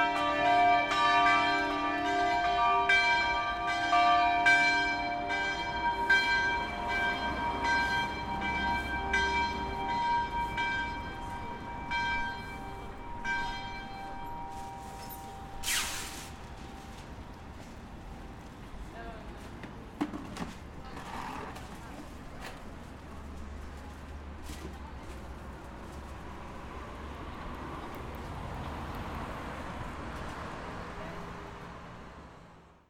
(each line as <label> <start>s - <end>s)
Bells 0.0s - 18.5s